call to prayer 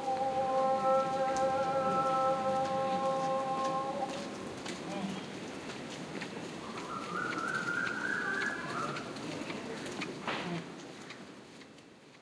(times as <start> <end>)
0.0 5.4